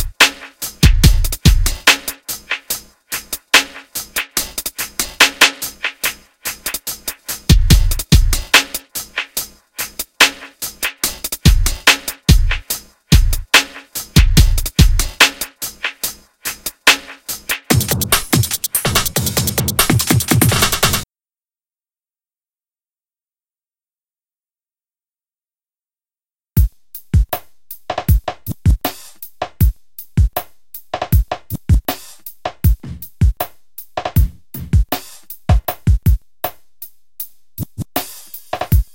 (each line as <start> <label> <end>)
0.0 Bass 2.0
0.0 drums 21.1
7.5 Bass 8.6
11.4 Bass 13.5
14.2 Bass 15.2
17.7 Bass 21.0
26.6 drums 38.9
26.6 Bass 38.9